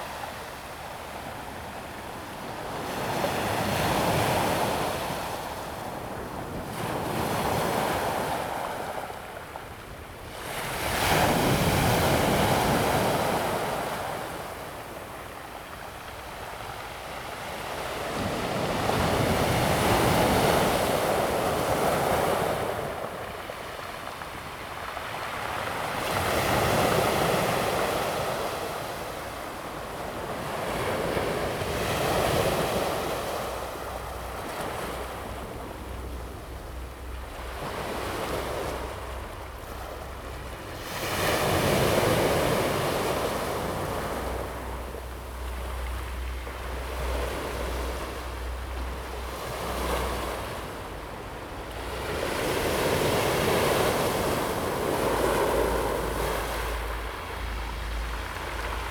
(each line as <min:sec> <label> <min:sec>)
0:00.0 waves 0:58.9